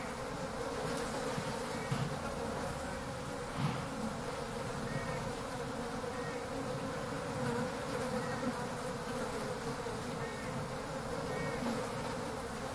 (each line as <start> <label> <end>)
0.0 bees 12.7